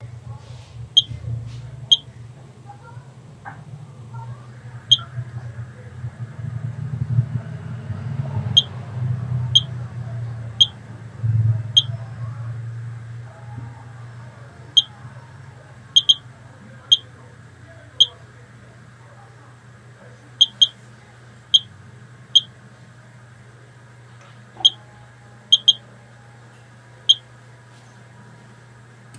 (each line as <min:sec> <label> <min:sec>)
0:09.5 digital G-M counter 0:09.7
0:16.0 digital G-M counter 0:16.2
0:20.4 digital G-M counter 0:20.8
0:25.5 digital G-M counter 0:25.8